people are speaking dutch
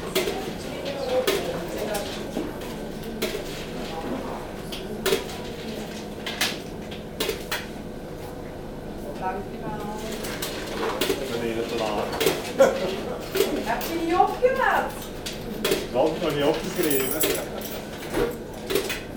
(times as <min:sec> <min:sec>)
0:09.0 0:15.1